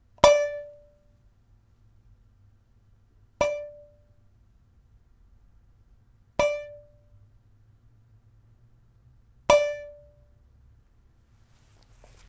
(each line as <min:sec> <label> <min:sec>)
0:00.2 half-filled metal thermos being struck 0:00.8
0:03.4 half-filled metal thermos being struck 0:04.0
0:06.4 half-filled metal thermos being struck 0:07.0
0:09.5 half-filled metal thermos being struck 0:10.0